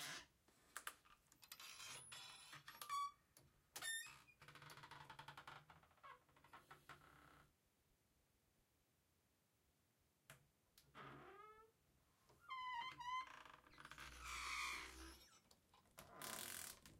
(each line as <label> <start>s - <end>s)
creaky door being opened and closed 1.4s - 3.2s
creaky door being opened and closed 3.8s - 7.4s
creaky door being opened and closed 12.5s - 16.9s